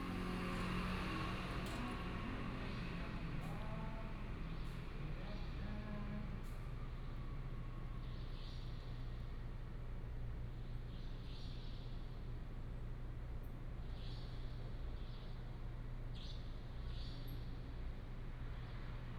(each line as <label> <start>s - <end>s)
Traffic sound 0.0s - 8.1s